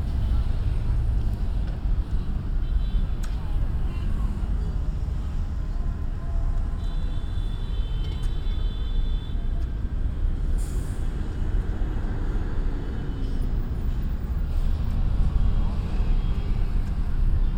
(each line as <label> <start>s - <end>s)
Traffic 0.0s - 17.5s